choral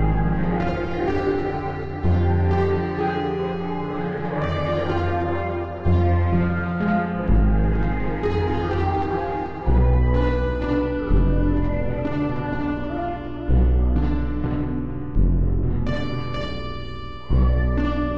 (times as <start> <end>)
0.0 14.5